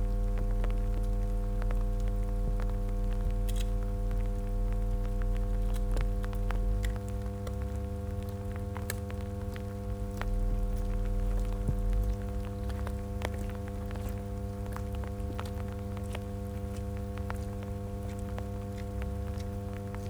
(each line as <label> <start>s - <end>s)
electrical hum 0.0s - 20.0s
rain spatters onto my coat 0.0s - 20.0s